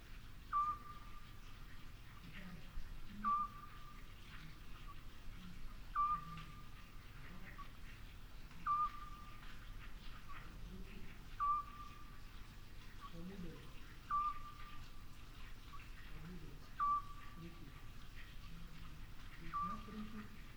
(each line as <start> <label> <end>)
0.0 water flowing from a well 20.5
0.5 Eurasian Scops Owl calling 1.3
3.2 Eurasian Scops Owl calling 4.0
5.9 Eurasian Scops Owl calling 6.8
8.6 Eurasian Scops Owl calling 9.4
11.3 Eurasian Scops Owl calling 12.1
14.0 Eurasian Scops Owl calling 14.7
16.8 Eurasian Scops Owl calling 17.4
19.3 Eurasian Scops Owl calling 20.2